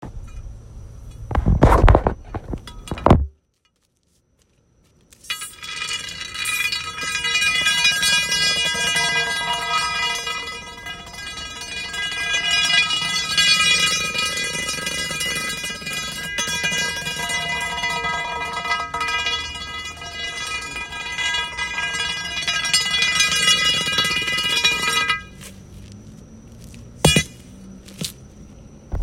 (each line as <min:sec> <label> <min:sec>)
0:05.4 fire poker being dragged along a busy street 0:28.6